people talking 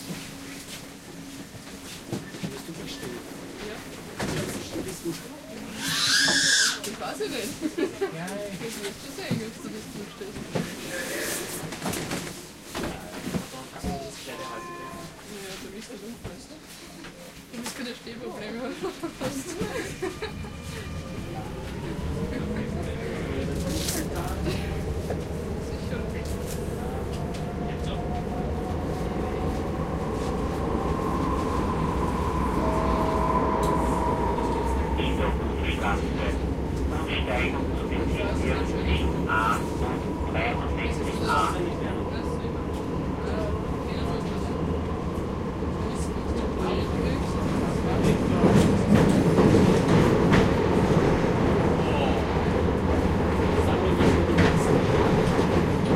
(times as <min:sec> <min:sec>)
0:02.3 0:11.3, 0:12.8 0:28.3, 0:32.7 0:44.8, 0:45.8 0:49.4, 0:51.7 0:52.4, 0:53.4 0:55.9